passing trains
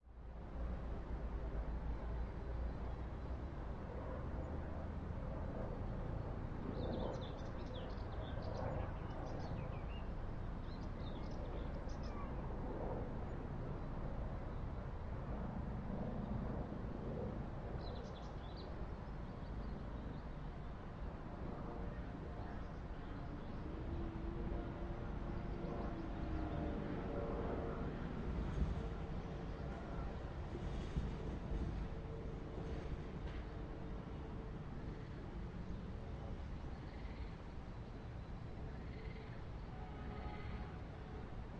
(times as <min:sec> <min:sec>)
0:27.7 0:33.6